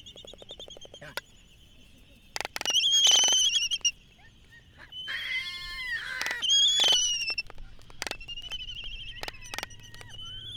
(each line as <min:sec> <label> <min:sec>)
0:00.9 voices 0:01.3
0:03.6 voices 0:10.5
0:05.6 Laysan albatross dancing 0:10.3
0:06.0 carts 0:10.5